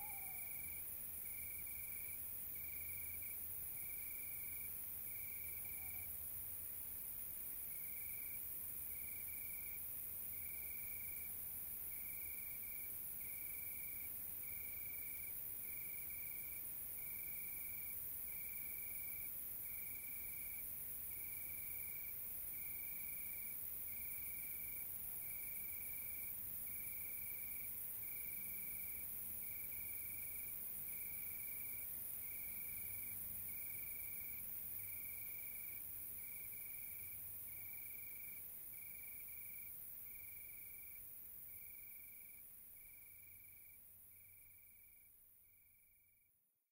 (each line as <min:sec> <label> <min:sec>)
0:00.0 tawnyowl 0:00.7
0:00.0 crickets 0:46.3